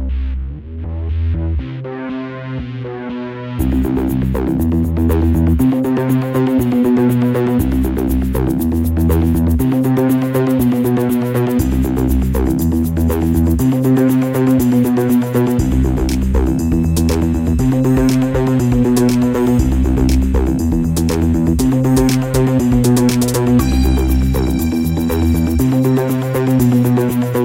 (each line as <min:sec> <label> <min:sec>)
0:00.9 synth 0:27.4